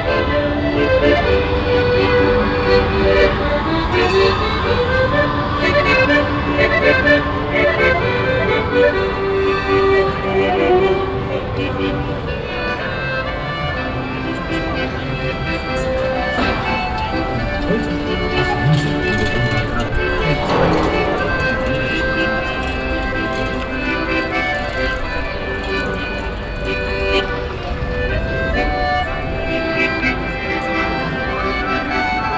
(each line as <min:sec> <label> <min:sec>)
0:00.0 accordeon player 0:32.3
0:16.4 metal pipes handled by construction workers 0:27.3